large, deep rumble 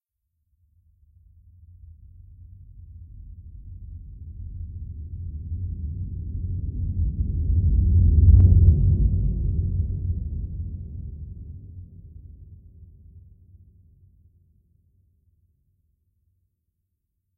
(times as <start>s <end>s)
2.9s 13.2s